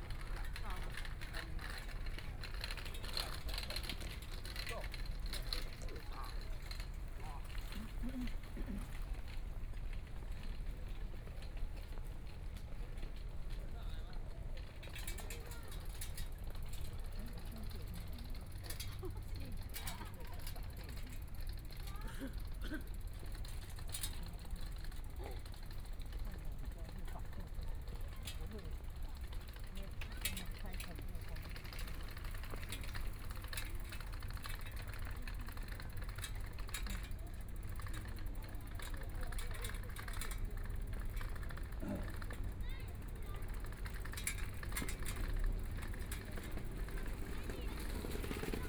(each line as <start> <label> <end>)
0.0 Walking along the track 48.6
17.0 Bicycle voice 48.6